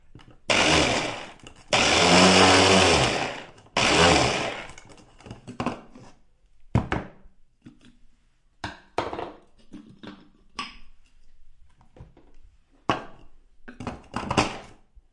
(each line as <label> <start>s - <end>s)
blender 0.5s - 5.0s